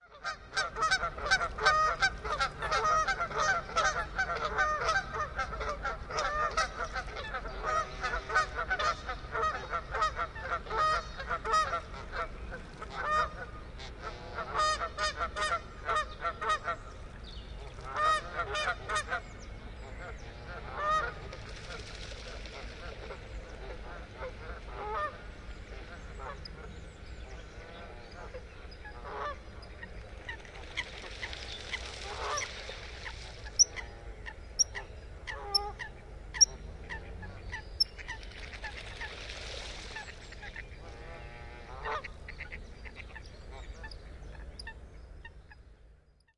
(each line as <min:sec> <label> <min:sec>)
0:00.0 Calls of Canada geese 0:16.9
0:17.6 Calls of Canada geese 0:19.3
0:19.9 Calls of Canada geese 0:21.3
0:22.5 Calls of Canada geese 0:26.7
0:27.6 Calls of Canada geese 0:39.2
0:39.8 Calls of Canada geese 0:44.8